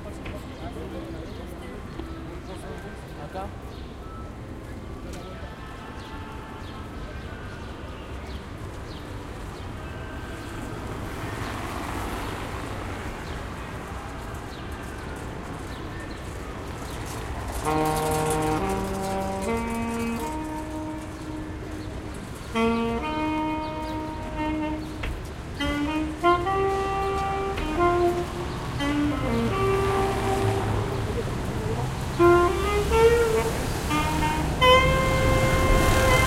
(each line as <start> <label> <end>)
16.8 saxophone player playing Jazz 36.2